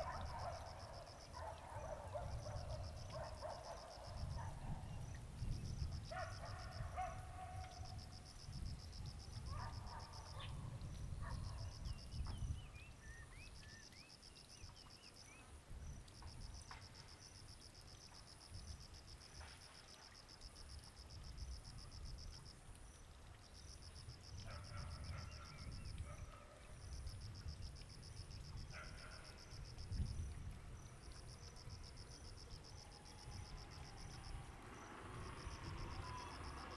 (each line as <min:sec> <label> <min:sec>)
0:00.0 Dog barking 0:04.8
0:06.1 Dog barking 0:07.9
0:09.5 Dog barking 0:10.6
0:11.2 Dog barking 0:11.6
0:24.5 Dog barking 0:26.7
0:28.7 Dog barking 0:29.4
0:32.9 traffic sound 0:36.7